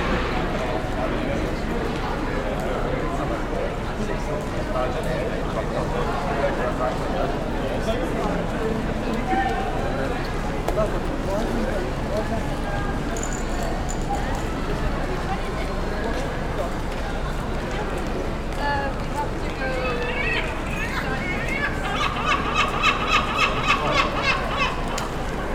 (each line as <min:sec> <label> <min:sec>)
0:19.8 congestion by our human presence 0:25.5